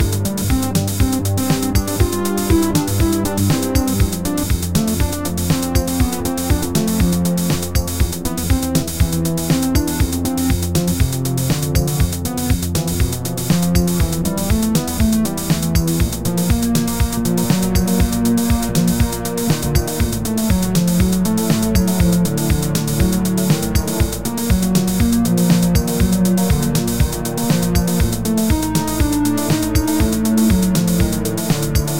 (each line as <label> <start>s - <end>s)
organ 0.0s - 31.9s
synth 0.0s - 31.9s